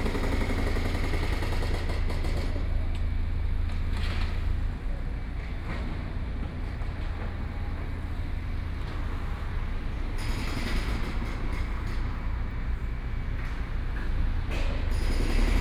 road construction 0:00.0 - 0:15.6

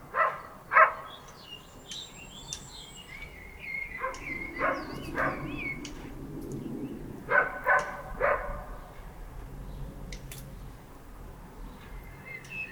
windy 0:00.0 - 0:12.7

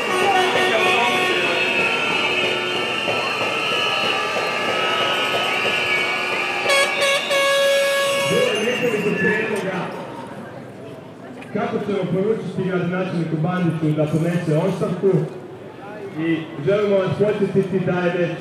reactions of citizens 0:00.0 - 0:11.4

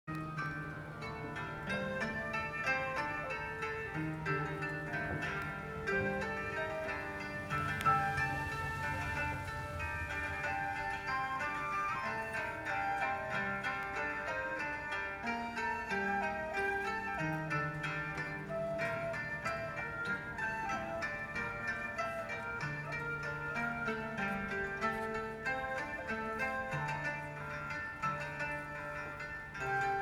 Playing the Japenese Zither 0:00.1 - 0:30.0

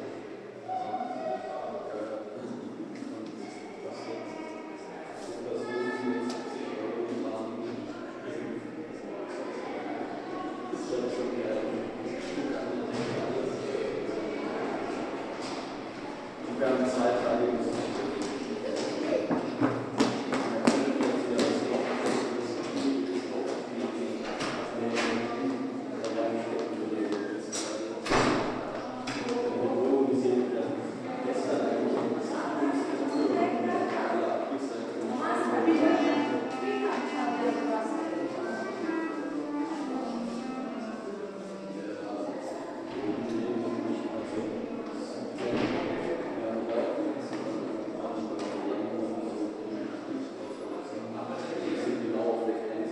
musicians preparing a concert 0:35.7 - 0:41.8

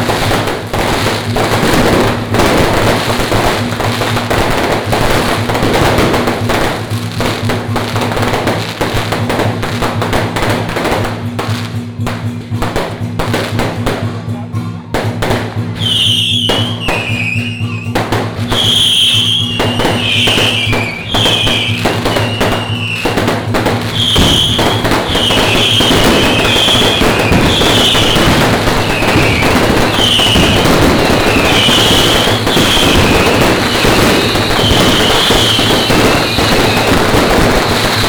Firecrackers 0:00.0 - 0:38.0
fireworks 0:00.0 - 0:38.0

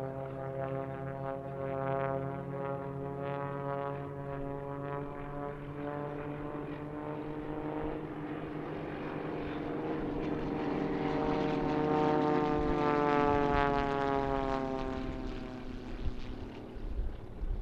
Pilatus plane in air 0:00.0 - 0:17.6

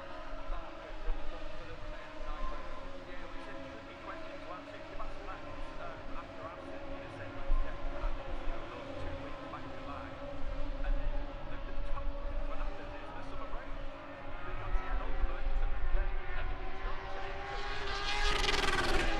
motorcycle grand prix 0:00.0 - 0:19.1

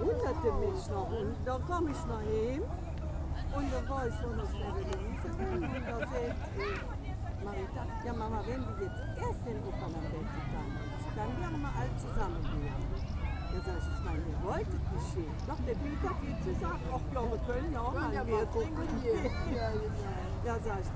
conversation of people 0:00.0 - 0:20.9

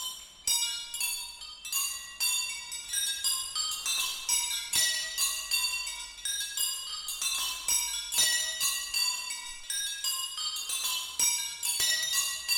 chime wheel 0:00.0 - 0:12.5

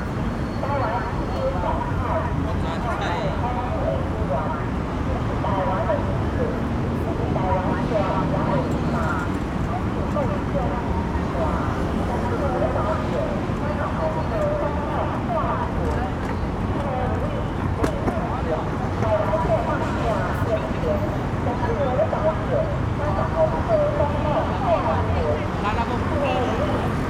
Election Parade 0:00.0 - 0:27.0
Traffic Sound 0:00.0 - 0:27.0
Reporters interviewed 0:00.0 - 0:27.0

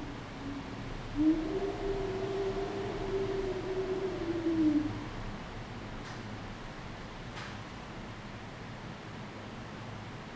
wind 0:00.0 - 0:08.2

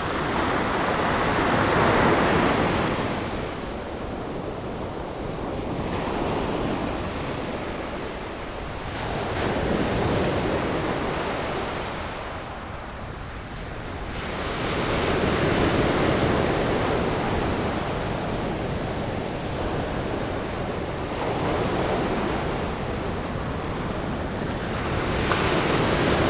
waves 0:00.0 - 0:26.2

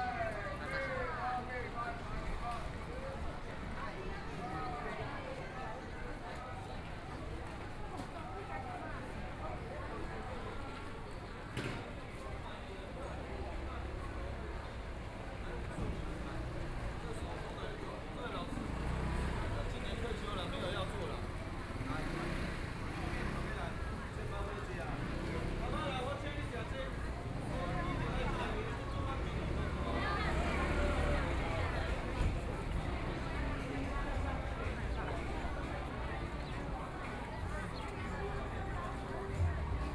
walking in the Street 0:00.0 - 0:39.9
Tourists 0:12.0 - 0:39.9

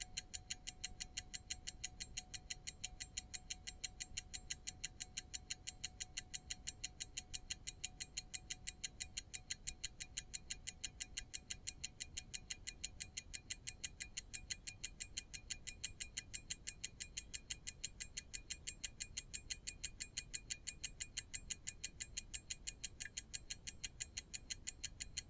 ticking pocket watch 0:00.0 - 0:25.2

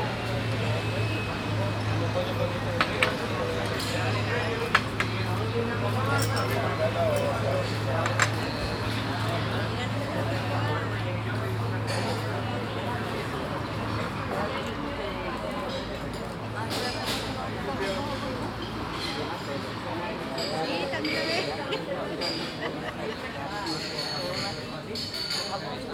cars and motorcycles passing by 0:00.0 - 0:22.5
people talking while having their breakfast 0:00.0 - 0:25.9

